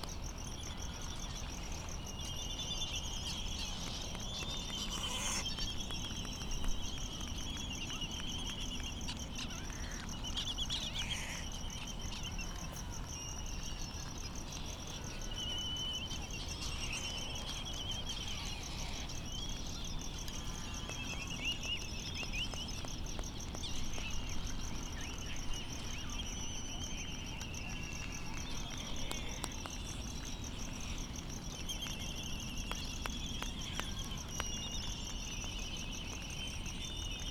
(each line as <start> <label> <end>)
0.0 crickets ticking 37.3
0.0 laysan calls and bill clapperings 37.3
4.6 bonin calls and flight calls 5.7